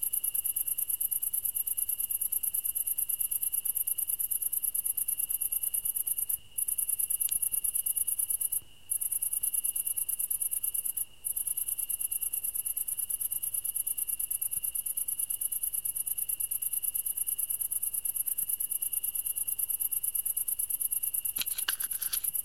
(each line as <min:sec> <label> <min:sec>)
0:00.0 cricket 0:22.4